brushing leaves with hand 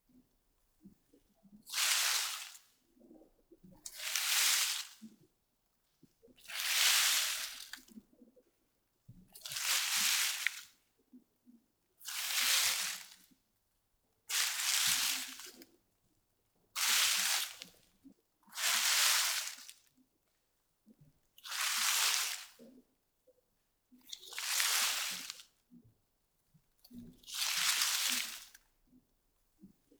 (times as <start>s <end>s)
18.7s 19.7s, 21.5s 22.6s, 24.3s 25.4s, 27.4s 28.6s